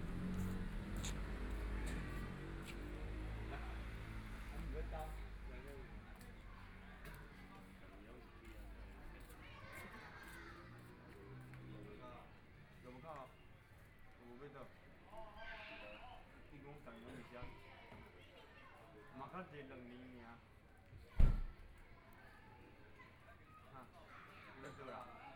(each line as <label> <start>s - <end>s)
Motorcycle Sound 0.0s - 3.0s
children are playing games 20.9s - 24.7s